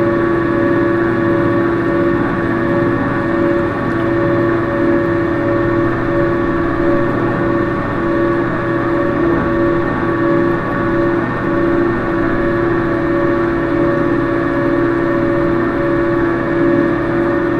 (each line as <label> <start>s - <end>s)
water basin with agitator 0.0s - 17.5s